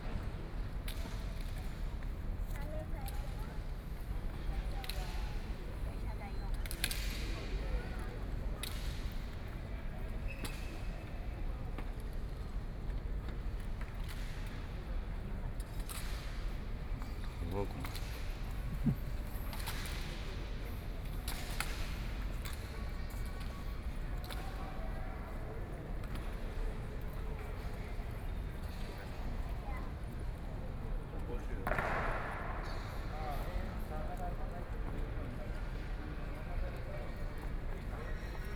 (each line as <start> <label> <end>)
18.4 Tourists 19.4